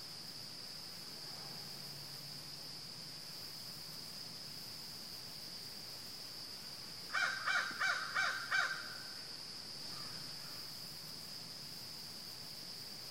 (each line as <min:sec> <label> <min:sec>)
0:00.0 crickets 0:13.1
0:07.1 crows 0:09.2
0:09.9 crows 0:10.6